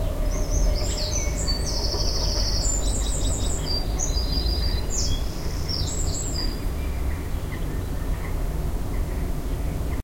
northern wren sings 0:00.0 - 0:07.7
city in the background 0:00.0 - 0:10.0
wind 0:00.0 - 0:10.0

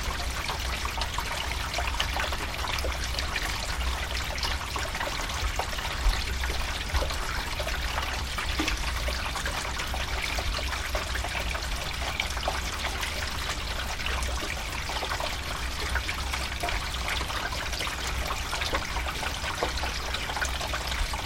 rain water running in drain pipe 0:00.0 - 0:21.2

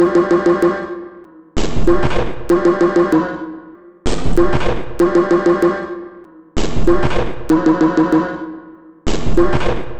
Drum 0:00.0 - 0:00.3

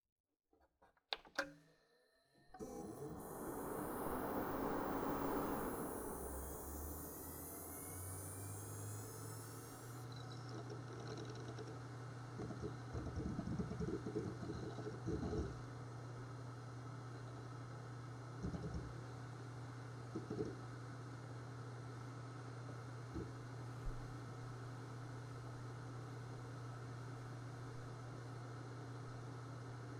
internal fan activation 0:02.6 - 0:10.2

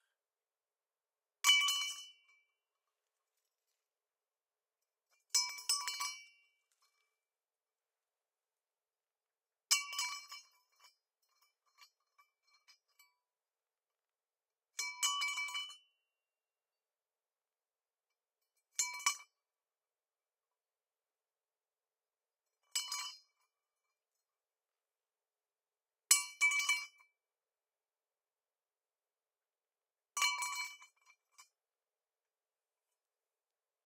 Dropping an aluminium pipe on a concrete floor 0:01.4 - 0:02.6
Dropping an aluminium pipe on a concrete floor 0:05.1 - 0:07.1
Dropping an aluminium pipe on a concrete floor 0:09.7 - 0:13.1
Dropping an aluminium pipe on a concrete floor 0:14.8 - 0:15.8
Dropping an aluminium pipe on a concrete floor 0:18.6 - 0:19.4
Dropping an aluminium pipe on a concrete floor 0:22.5 - 0:23.9
Dropping an aluminium pipe on a concrete floor 0:26.1 - 0:27.1
Dropping an aluminium pipe on a concrete floor 0:30.2 - 0:31.6

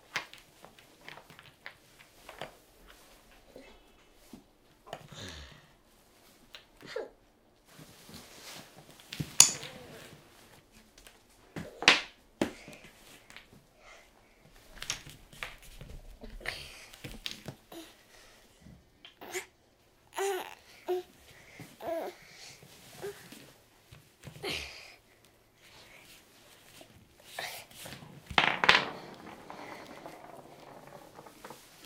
Wooden Toy Blocks 0:28.4 - 0:31.8

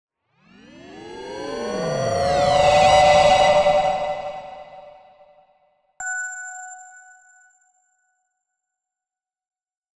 riser 0:00.5 - 0:05.3

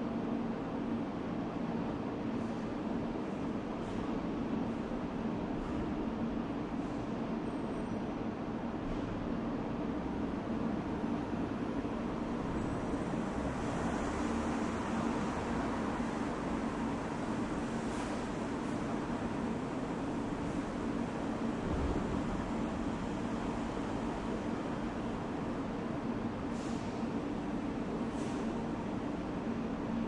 cars 0:12.4 - 0:21.0

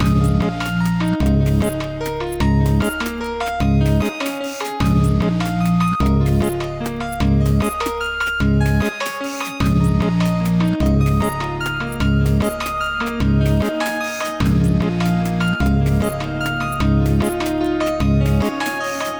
drumbeat 0:14.4 - 0:17.6

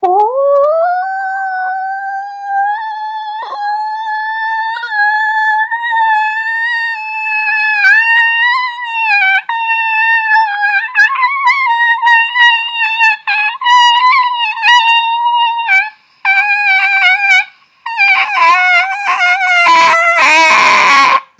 voice 0:00.0 - 0:17.4

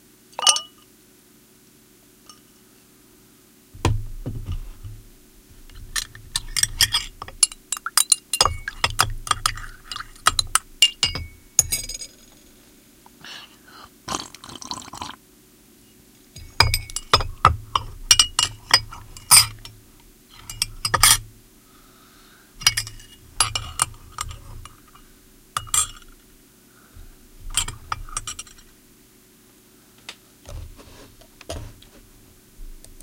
rinsing watercolour brushes in a jar of water 0:03.8 - 0:12.2
rattling a teaspoon in a cup 0:05.6 - 0:12.5
rattling a teaspoon in a cup 0:16.4 - 0:21.3
rinsing watercolour brushes in a jar of water 0:16.4 - 0:21.3
rattling a teaspoon in a cup 0:22.6 - 0:26.2
rinsing watercolour brushes in a jar of water 0:22.6 - 0:26.2
rinsing watercolour brushes in a jar of water 0:27.0 - 0:28.7
rattling a teaspoon in a cup 0:27.4 - 0:28.7

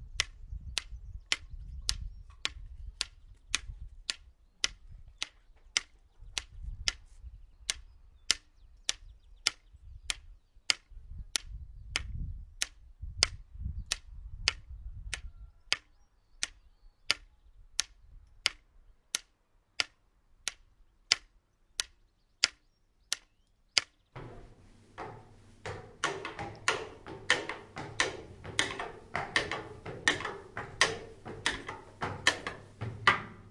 white cane on a different surfaces 0:24.2 - 0:33.5

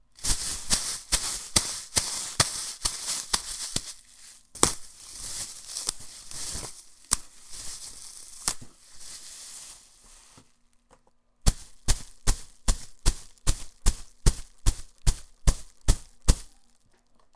crumbling, tearing, and stomping on a plastic bag 0:00.0 - 0:10.6
crumbling, tearing, and stomping on a plastic bag 0:11.4 - 0:17.2

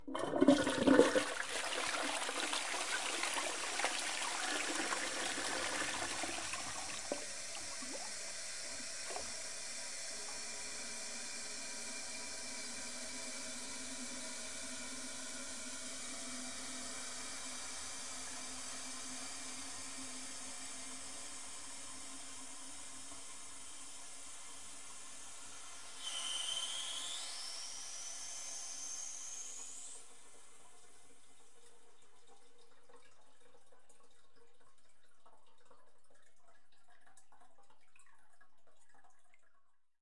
toilet flush and drain 0:00.0 - 0:39.5

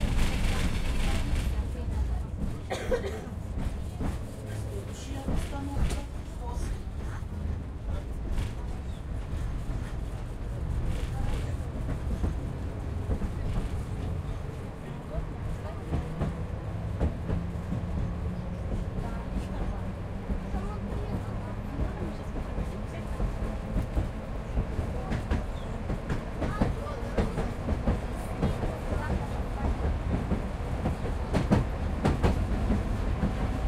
Tram rides over the bridge 0:00.0 - 0:33.6

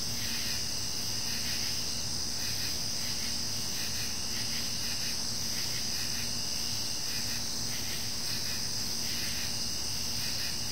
insect chorus 0:00.0 - 0:10.7

